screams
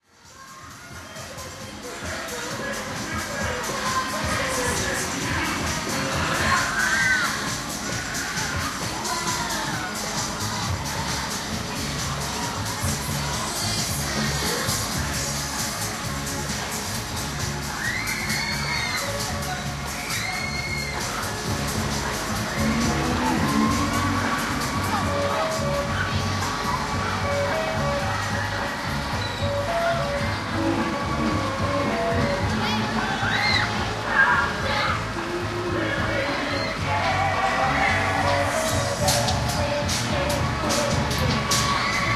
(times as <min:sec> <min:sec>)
0:17.7 0:19.2, 0:20.0 0:21.3